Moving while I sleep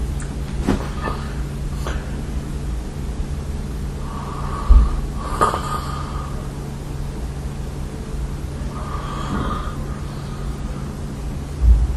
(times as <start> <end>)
0.0 2.8, 3.8 7.0, 8.3 11.9